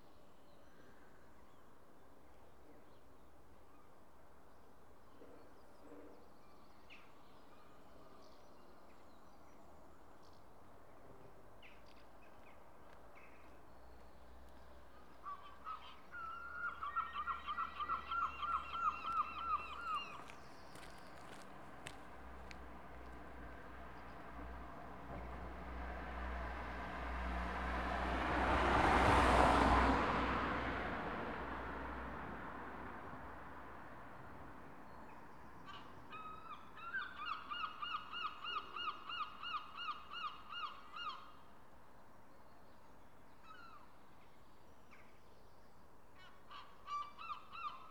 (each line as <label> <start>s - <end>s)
Roadside sounds 11.0s - 36.1s